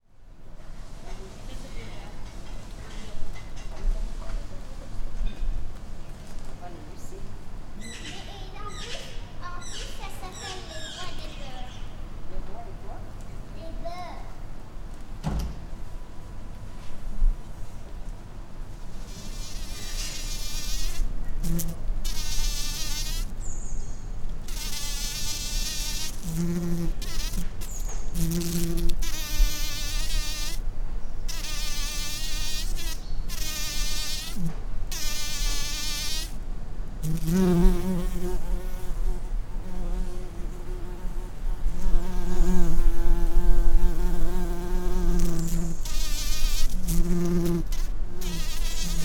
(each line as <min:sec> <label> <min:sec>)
0:19.0 Bumblebee 0:23.3
0:24.4 Bumblebee 0:30.6
0:31.3 Bumblebee 0:36.4
0:37.0 Bumblebee 0:49.0